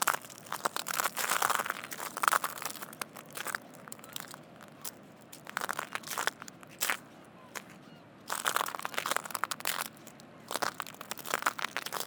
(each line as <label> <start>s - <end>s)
Walking on shells 0.0s - 12.0s